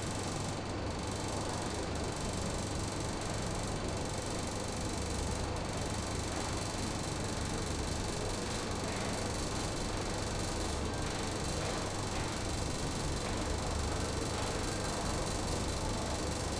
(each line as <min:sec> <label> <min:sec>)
0:00.0 fan with an interesting scrambling pattern 0:16.5